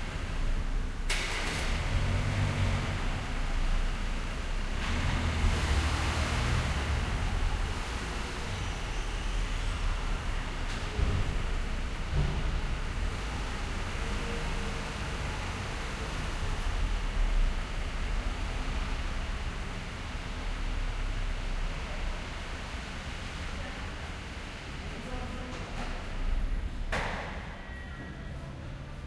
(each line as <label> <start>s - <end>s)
cars parking and passing by slowly 0.0s - 29.0s